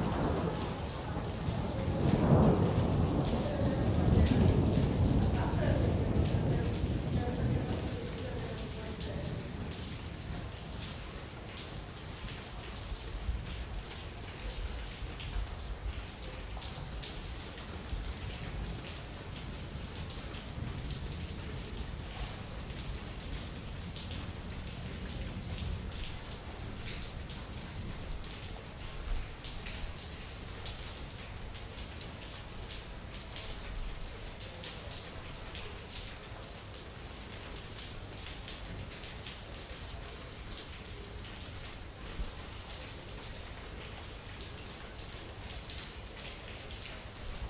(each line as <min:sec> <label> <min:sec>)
0:00.0 storm 0:11.6
0:00.0 rain 0:47.4
0:12.7 storm 0:31.4